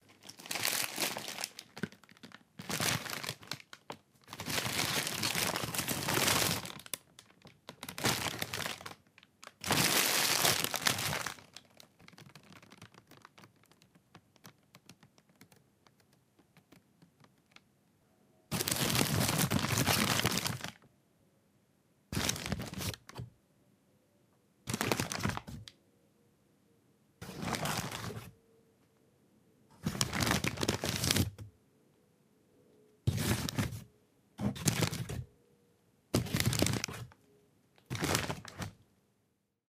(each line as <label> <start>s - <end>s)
paper bag being moved and crumpled 0.1s - 7.0s
paper bag being moved and crumpled 7.7s - 13.4s
paper bag being moved and crumpled 18.5s - 20.8s
paper bag being moved and crumpled 22.2s - 23.2s
paper bag being moved and crumpled 24.7s - 25.6s
paper bag being moved and crumpled 27.2s - 28.3s
paper bag being moved and crumpled 29.8s - 31.4s
paper bag being moved and crumpled 33.1s - 33.8s
paper bag being moved and crumpled 34.4s - 35.2s
paper bag being moved and crumpled 36.2s - 37.1s
paper bag being moved and crumpled 37.9s - 38.8s